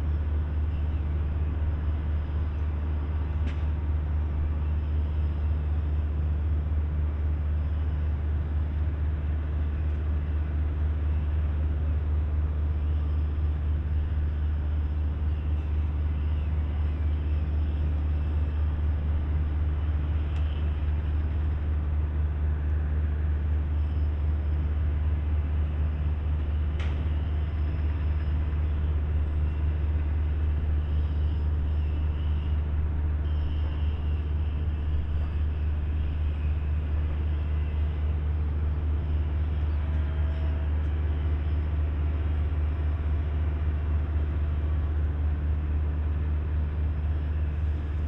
0.0s drones from a distant huge bucket-wheel excavator at work 48.0s

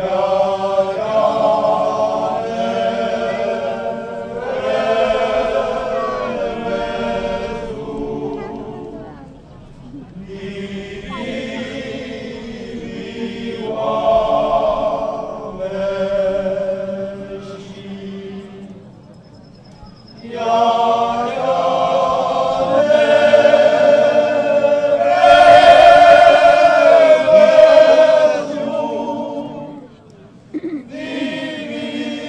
0.0s people from several villages around singing and dancing 32.2s

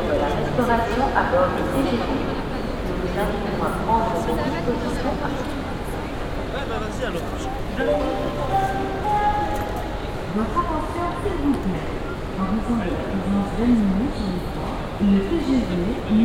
2.4s announcement 11.0s

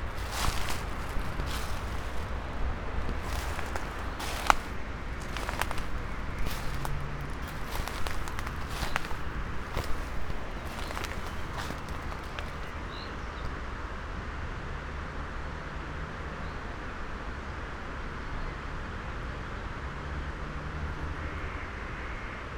0.0s reading poem 0.3s
0.0s walking 12.9s

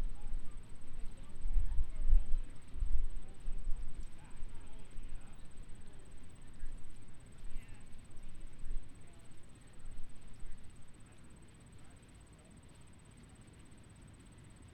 0.0s bugs in a bush 14.7s

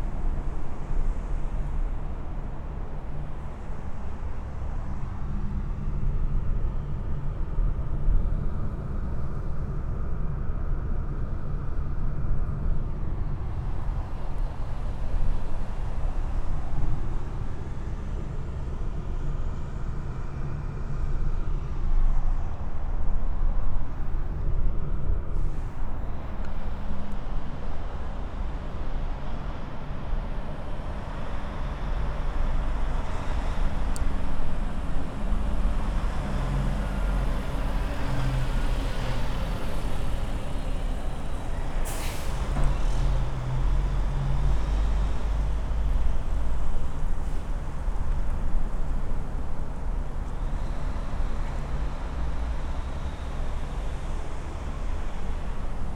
0.0s traffic 55.9s

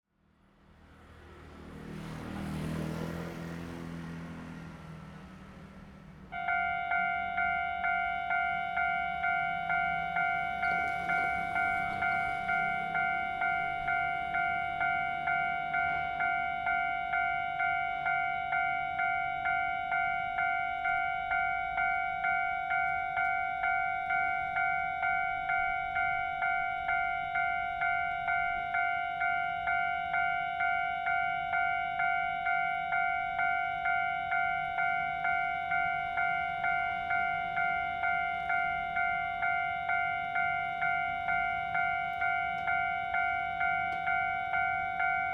0.1s Traffic sound 45.3s
0.4s Train traveling through 45.3s

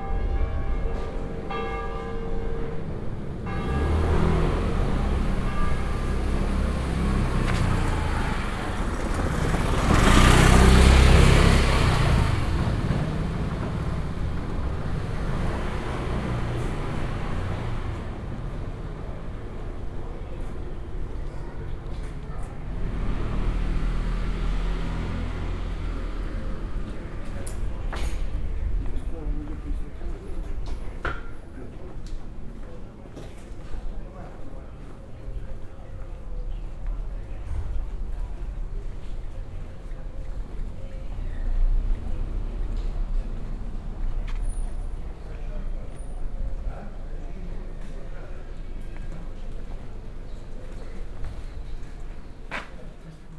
0.0s church bells 8.6s
0.0s walking around narrow streets 53.3s
4.0s residents conversations flowing out of the windows 53.3s

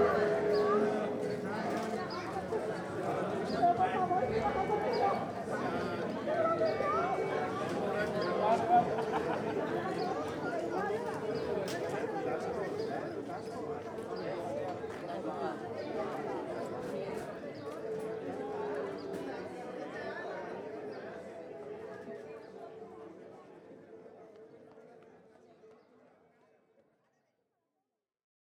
0.0s instrument à anche 2.1s

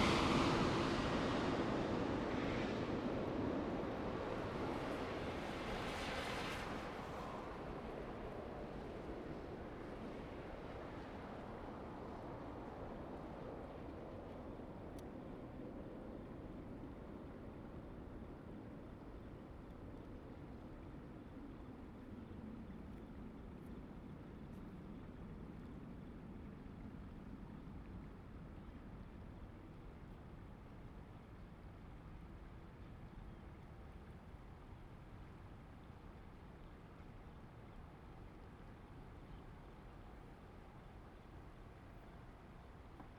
0.0s The plane was flying through 11.2s

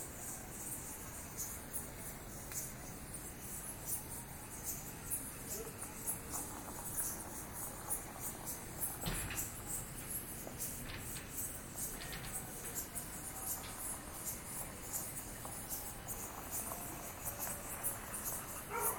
0.0s Insects 18.9s
18.0s dogs 18.9s

